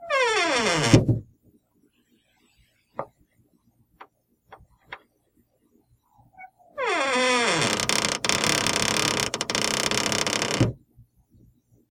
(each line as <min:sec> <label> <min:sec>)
0:00.0 common household door squeaking as it is being opened or closed 0:01.1
0:06.4 common household door squeaking as it is being opened or closed 0:10.8